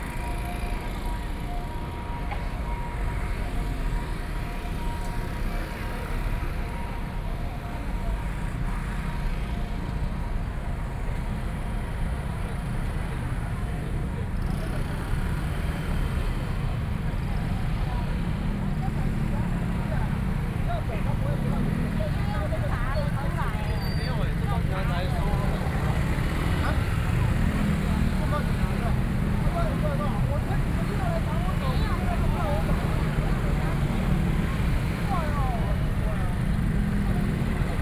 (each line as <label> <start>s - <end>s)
protest 18.3s - 37.8s